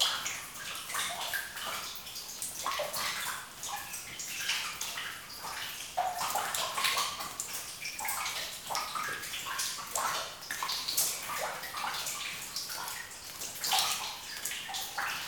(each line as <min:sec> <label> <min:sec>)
0:00.0 water 0:15.2